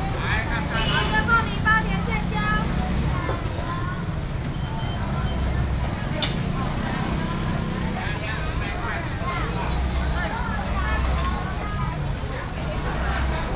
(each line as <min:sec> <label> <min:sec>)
0:00.0 Traffic sound 0:13.5